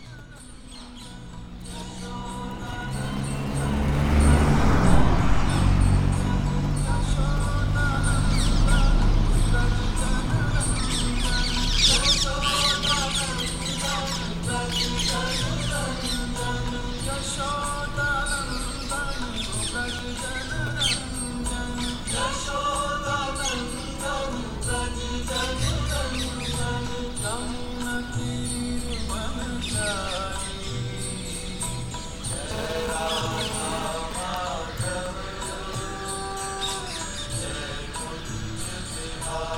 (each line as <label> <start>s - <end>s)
devotional song dedicated to Krishna 0.0s - 39.5s